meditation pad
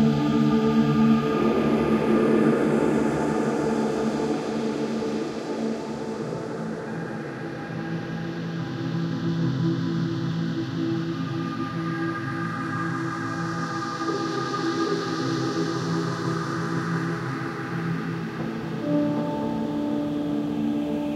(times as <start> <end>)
17.3 21.1